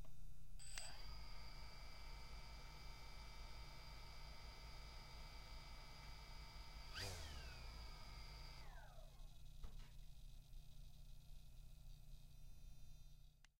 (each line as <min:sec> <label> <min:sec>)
0:00.6 remote-controlled model helicopter revving up and down 0:09.4